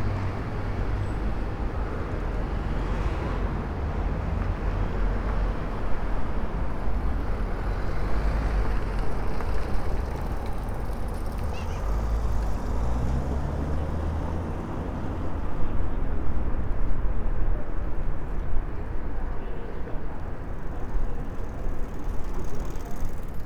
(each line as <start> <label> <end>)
0.0 Pedestrians along canal 23.4
0.0 cyclists 13.4
15.0 cyclists 23.4